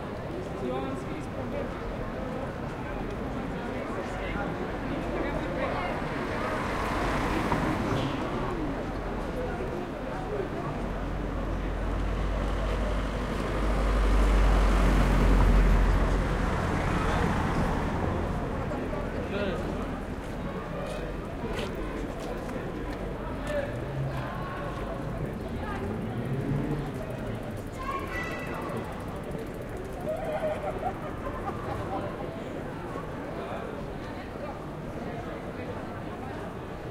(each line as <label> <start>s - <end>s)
Cars and bikes drive by 0.1s - 36.9s